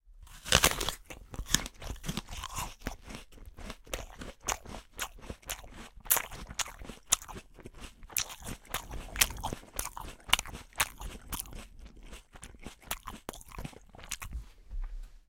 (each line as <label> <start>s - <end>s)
Eating An Apple 0.2s - 14.5s